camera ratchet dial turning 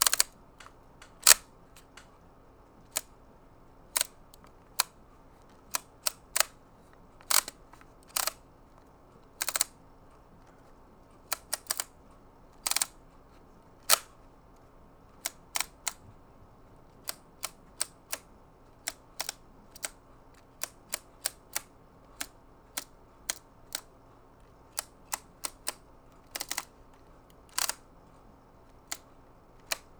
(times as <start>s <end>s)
0.0s 2.0s, 7.2s 8.4s, 9.4s 9.7s, 26.4s 26.7s, 27.4s 27.8s